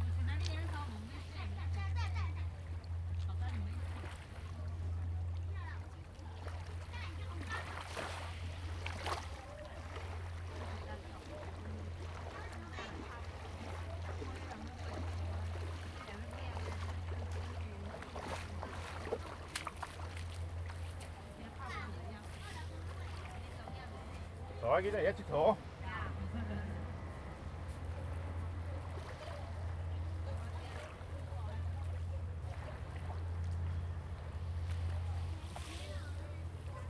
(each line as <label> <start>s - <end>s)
waves 0.0s - 36.8s